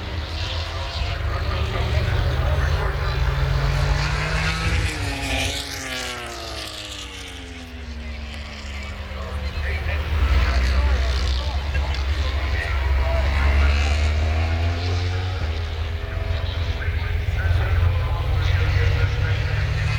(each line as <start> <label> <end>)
0.0 motogp warmup 19.9